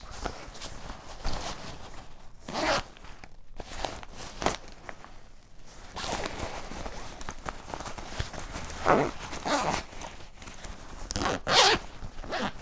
zipper 0:02.4 - 0:03.0
zipper 0:08.6 - 0:10.0
zipper 0:11.1 - 0:12.6

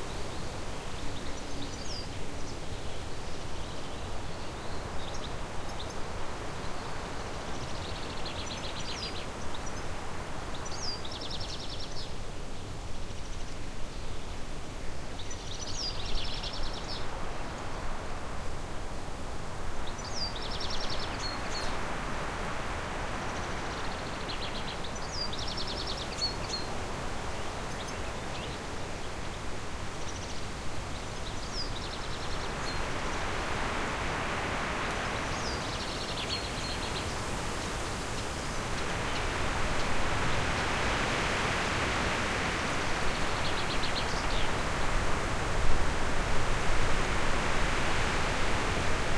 Wind in the larch tree 0:00.0 - 0:49.1
birdsong 0:19.8 - 0:21.9
birdsong 0:23.2 - 0:45.2

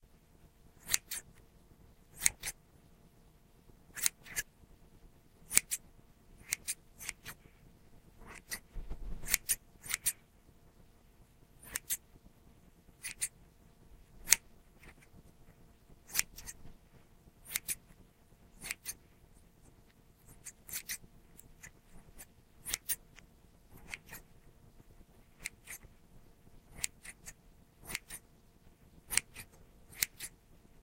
scissors clipping 0:00.8 - 0:01.3
scissors clipping 0:02.2 - 0:02.6
scissors clipping 0:04.0 - 0:04.4
scissors clipping 0:05.5 - 0:05.8
scissors clipping 0:06.4 - 0:07.4
scissors clipping 0:08.2 - 0:08.6
scissors clipping 0:09.2 - 0:10.2
scissors clipping 0:11.6 - 0:12.0
scissors clipping 0:13.0 - 0:13.3
scissors clipping 0:14.2 - 0:15.1
scissors clipping 0:16.1 - 0:16.6
scissors clipping 0:17.4 - 0:17.8
scissors clipping 0:18.6 - 0:19.0
scissors clipping 0:20.3 - 0:24.2
scissors clipping 0:25.4 - 0:25.9
scissors clipping 0:26.7 - 0:28.2
scissors clipping 0:29.1 - 0:30.4

